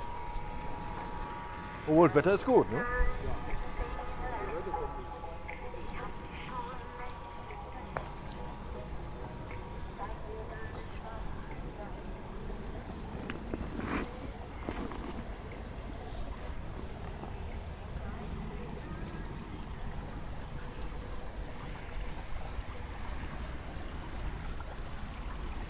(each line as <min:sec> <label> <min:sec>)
0:00.0 radio playing outside 0:21.2